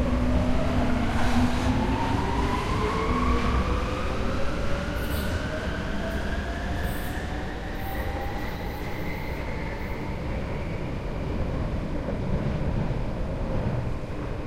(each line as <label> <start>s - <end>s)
incoming subway 0.0s - 14.4s
short subway ride 0.0s - 14.4s